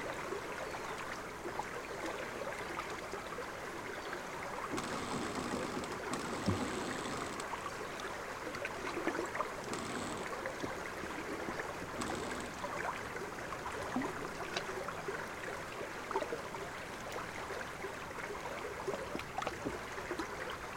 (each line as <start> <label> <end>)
3.8 river Savasa 14.5